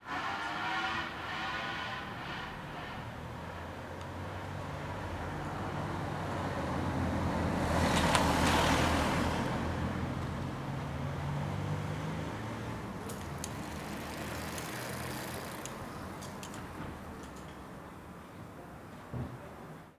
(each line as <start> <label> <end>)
0.0 Distance Scrambler Cars 19.1
0.0 Bikes 19.9